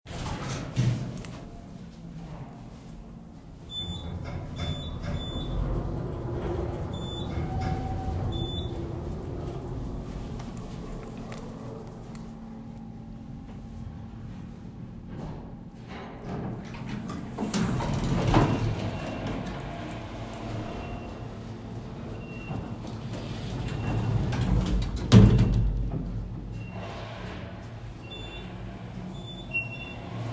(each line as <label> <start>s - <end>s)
Elevator Noise 0.1s - 30.3s
doors opening 3.4s - 30.3s
Elevator ding 3.6s - 24.5s